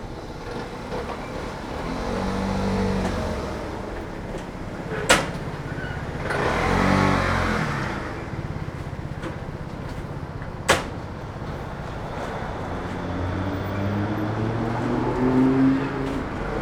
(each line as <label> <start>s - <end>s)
people leaving the store 0.0s - 16.6s
traffic 0.0s - 16.6s
slamming the doors of the compartments 5.0s - 6.0s
slamming the doors of the compartments 10.5s - 11.5s